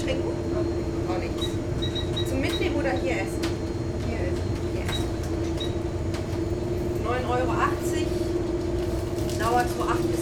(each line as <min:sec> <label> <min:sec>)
0:00.0 people ordering 0:10.2